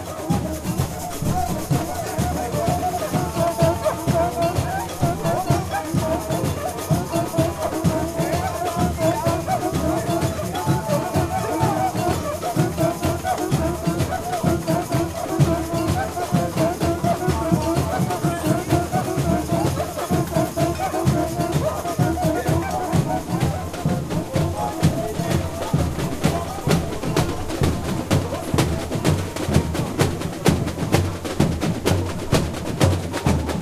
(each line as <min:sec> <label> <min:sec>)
0:00.0 cow bells 0:33.6
0:00.0 cuicas 0:33.6
0:00.0 puxador is singing 0:33.6
0:00.0 repinique 0:33.6
0:00.0 shakers 0:33.6
0:00.0 snare drums 0:33.6
0:00.0 tamborims 0:33.6